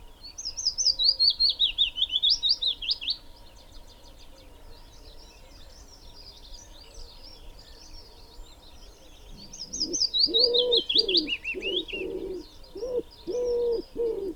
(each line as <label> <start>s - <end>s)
Willow warbler 0.0s - 14.3s
pheasant 0.0s - 14.3s
wood pigeon 9.4s - 14.3s